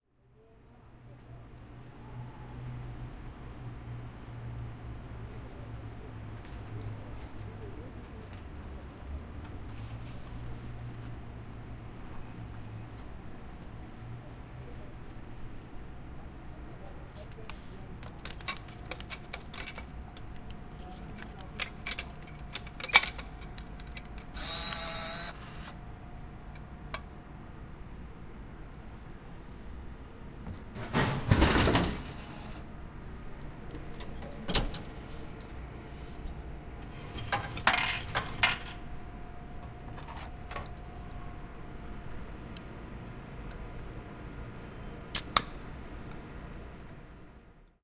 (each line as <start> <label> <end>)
5.0 People in the background 25.3